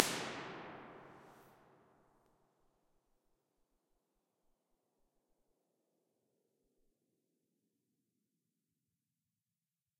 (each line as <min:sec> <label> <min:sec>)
0:00.0 reverb 0:01.4